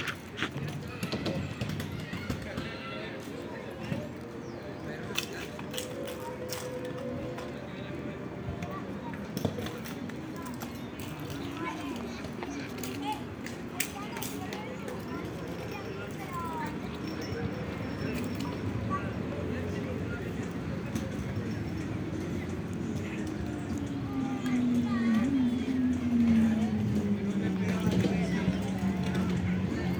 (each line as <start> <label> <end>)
0.0 children playing 29.9
0.0 wind 29.9
8.0 cars passing on the roads 29.9